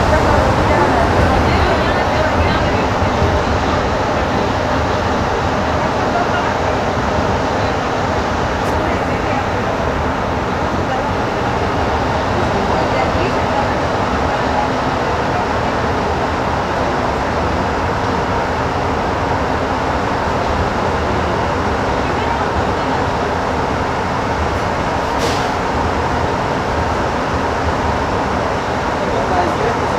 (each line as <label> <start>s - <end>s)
metro room tone 0.0s - 17.6s